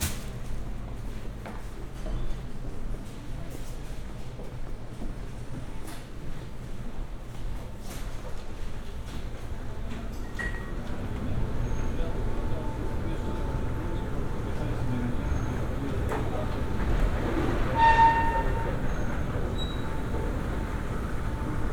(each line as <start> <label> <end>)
0.0 refrigerator 0.8